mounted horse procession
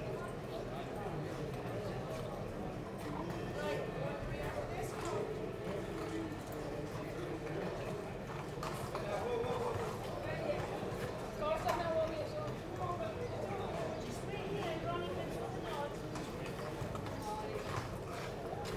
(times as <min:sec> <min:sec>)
0:04.2 0:12.9, 0:15.2 0:18.7